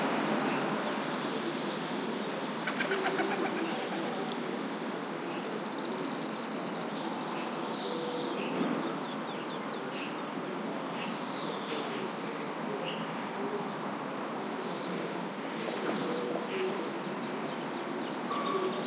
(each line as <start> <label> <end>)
0.0 traffic hum 5.6
2.6 Collared dove 4.3
2.6 wing flutterings 4.3